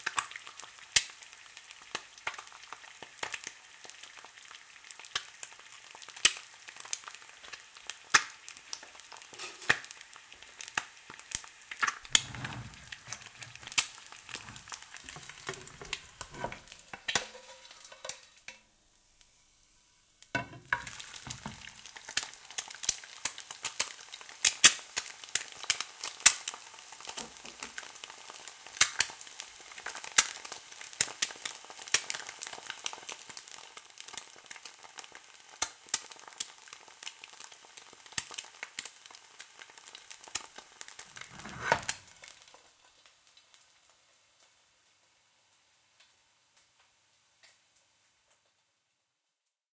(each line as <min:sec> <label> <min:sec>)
0:00.0 Cracking And Frying An Egg 0:19.4
0:20.2 Cracking And Frying An Egg 0:43.7